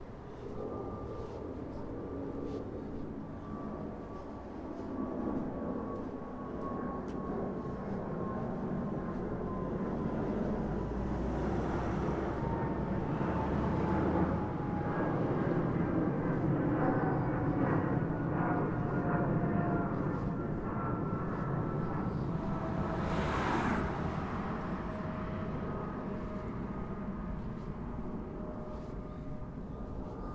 airplane flyes over 0:00.0 - 0:30.3

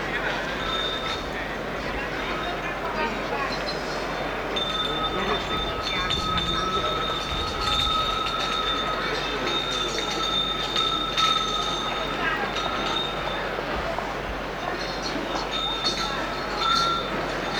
speech 0:00.0 - 0:17.5

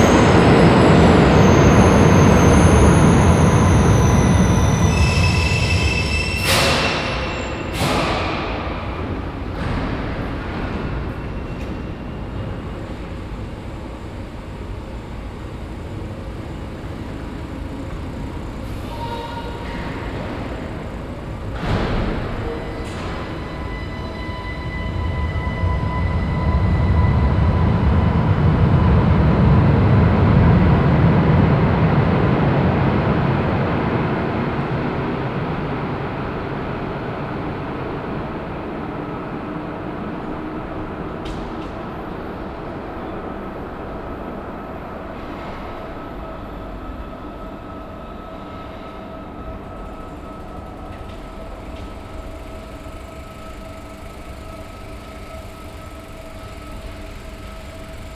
start of the moving staircases 0:00.0 - 0:58.1
trains driving in and out of the station 0:00.0 - 0:58.1

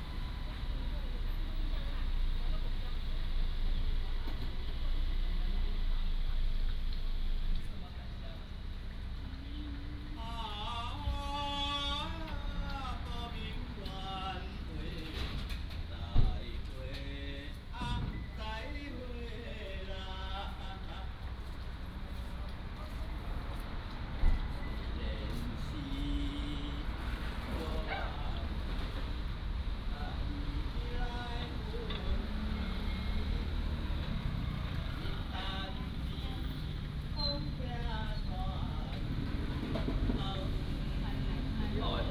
Traffic sound 0:00.0 - 0:42.1
old man is singing 0:09.3 - 0:21.6
old man is singing 0:24.6 - 0:42.1

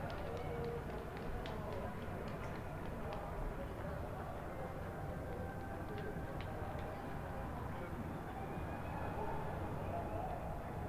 Applause 0:00.0 - 0:07.2

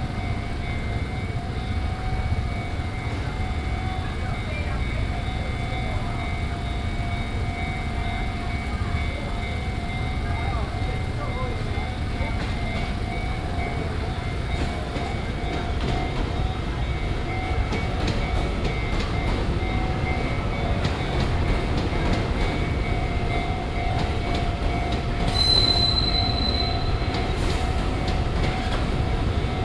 Railway crossings 0:00.0 - 0:29.6
Traveling by train 0:00.0 - 0:29.6

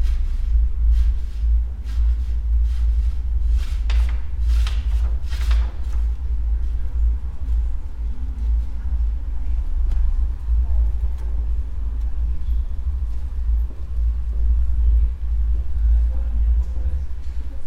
curtain 0:00.0 - 0:06.8
japanese paper, moved by wind 0:00.0 - 0:17.6

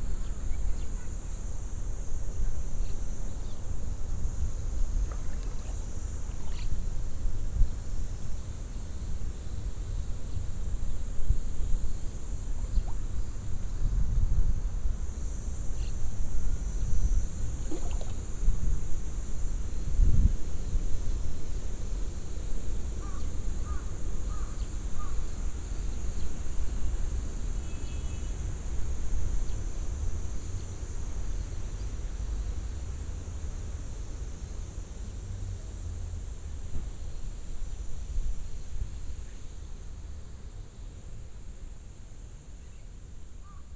cicades 0:00.0 - 0:43.7
wind 0:00.0 - 0:43.7
bubble in the water 0:05.0 - 0:06.8
bubble in the water 0:17.6 - 0:18.3

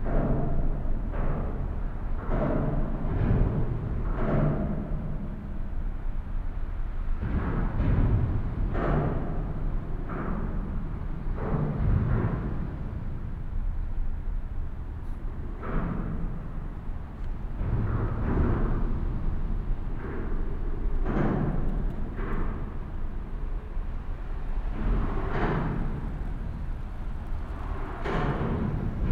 traffic 0:21.6 - 0:29.1

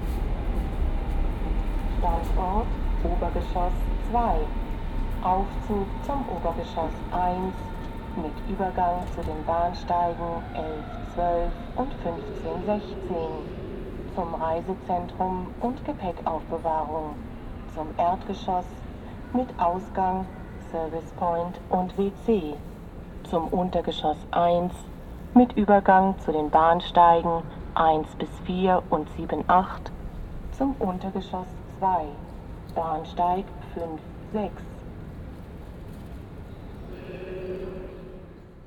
elevator ride 0:00.0 - 0:22.6

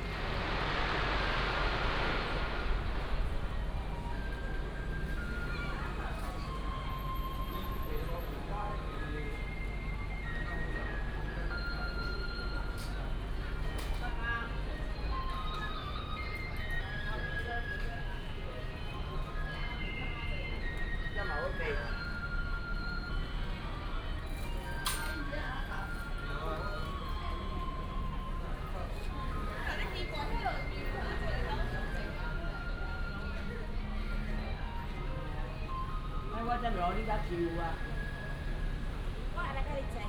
Firecrackers 0:00.0 - 0:06.0
Traffic sound 0:00.0 - 0:07.9

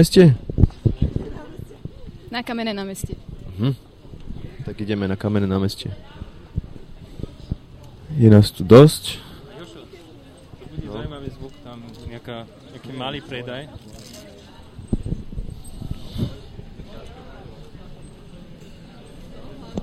street merchants 0:00.0 - 0:19.8

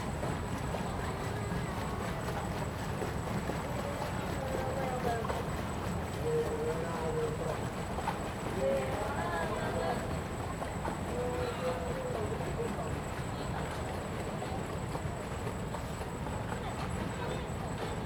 tourists stepping on the boat on the lake 0:00.0 - 0:18.0

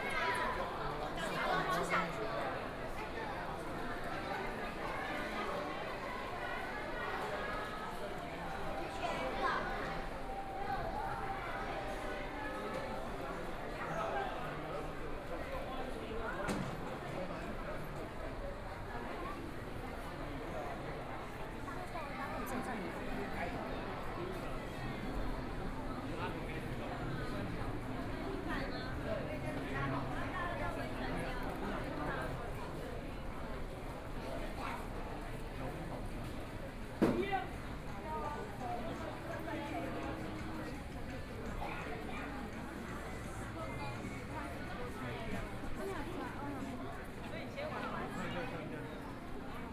Various shops voices 0:00.0 - 0:49.7
Pedestrian 0:22.7 - 0:46.8

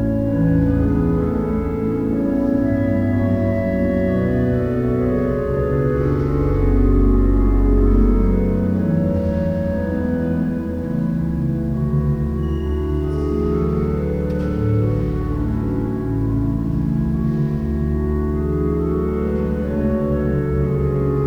Organ concert 0:00.0 - 0:21.2

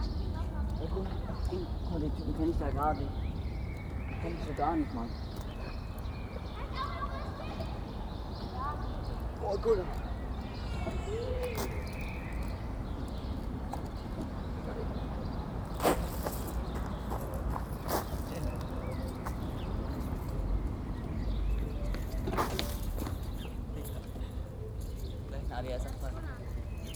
children 0:00.0 - 0:02.1
birds 0:00.0 - 0:26.9
children 0:04.7 - 0:14.0

